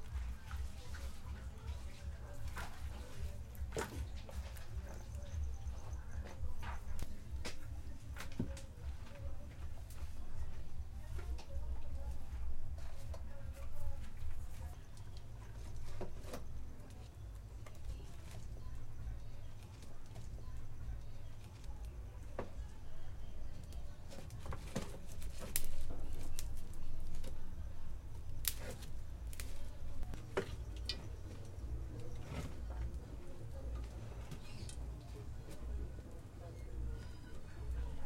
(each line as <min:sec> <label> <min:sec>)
0:00.0 logs in a stove 0:38.0
0:00.0 woman cooking 0:38.0
0:28.4 fire sparks 0:29.7